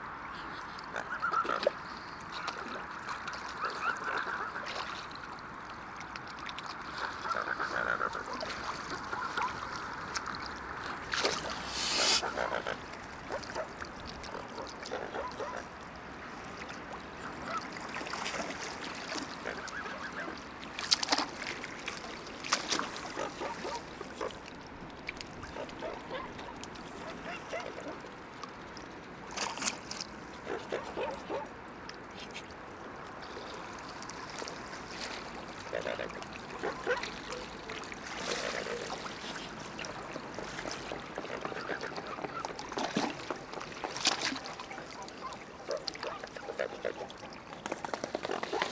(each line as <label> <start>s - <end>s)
Swans 0.1s - 15.8s
Swans 16.5s - 24.6s
Swans 25.3s - 28.5s
Swans 33.2s - 48.7s